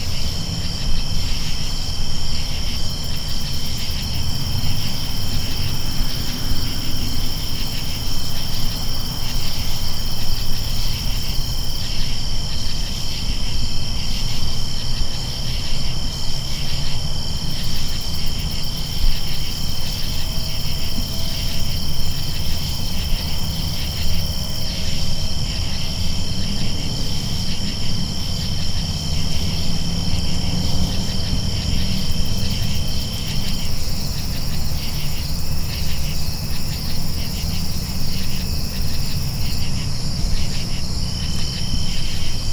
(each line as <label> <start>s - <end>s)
background car noises 0.0s - 42.5s
crickets 0.0s - 42.5s
insects I don't recognize 0.0s - 42.5s